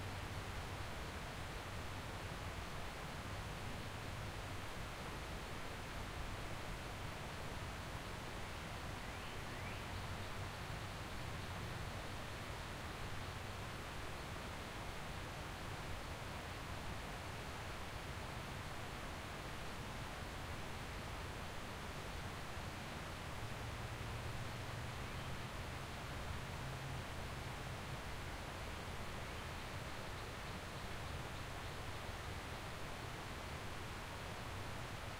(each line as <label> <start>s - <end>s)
stream flowing to the side 0.0s - 35.1s